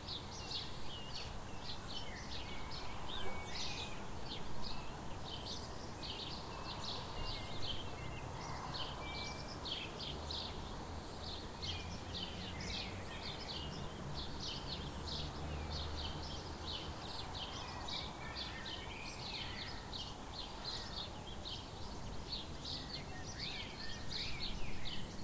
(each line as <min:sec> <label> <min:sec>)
0:00.0 sparrows 0:25.2
0:20.7 crow 0:21.1